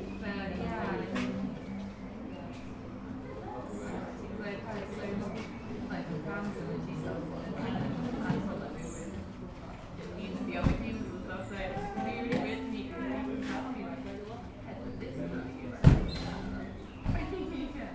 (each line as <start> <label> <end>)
0.0 people sitting 17.9